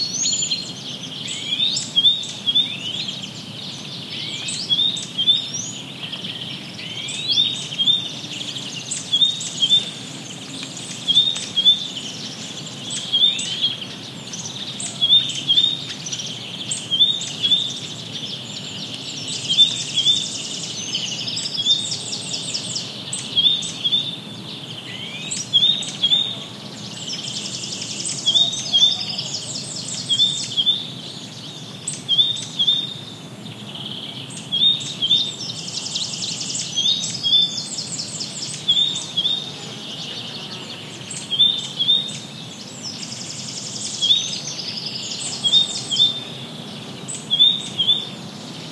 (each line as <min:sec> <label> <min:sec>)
0:00.0 Blackbird 0:48.7
0:00.0 Great Tit in foreground 0:48.7
0:00.0 Warbler 0:48.7
0:00.6 distant voices 0:48.7
0:10.6 Cuckoo 0:12.0
0:14.7 Cuckoo 0:16.0
0:24.9 Cuckoo 0:26.6
0:28.2 Cuckoo 0:31.0
0:38.5 Cuckoo 0:42.2
0:47.2 Cuckoo 0:48.2